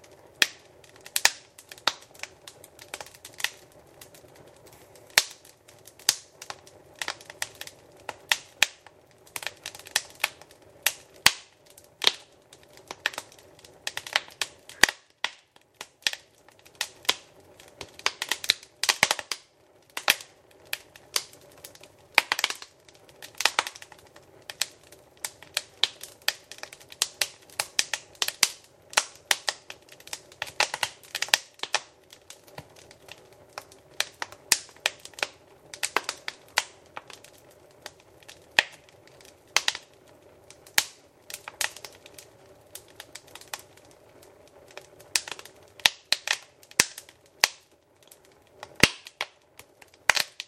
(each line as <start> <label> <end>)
0.0 Fire crackles in the fireplace 50.4